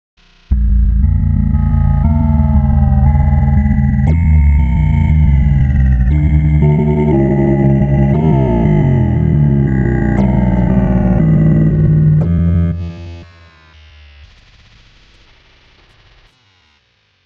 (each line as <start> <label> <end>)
0.5 wrecked vox 26 13.4